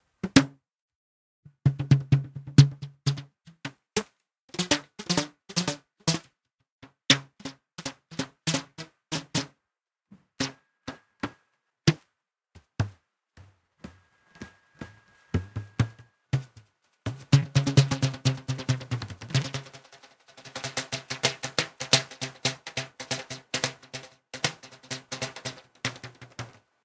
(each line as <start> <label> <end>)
1.5 plucking elastic 9.5
14.4 plucking elastic 26.6